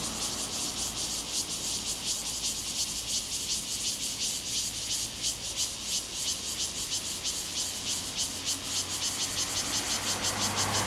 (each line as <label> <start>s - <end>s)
Cicadas sound 0.0s - 10.8s
Traffic Sound 8.0s - 10.8s